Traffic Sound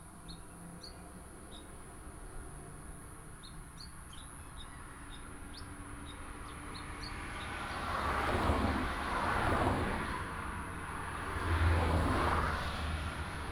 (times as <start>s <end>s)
6.8s 13.5s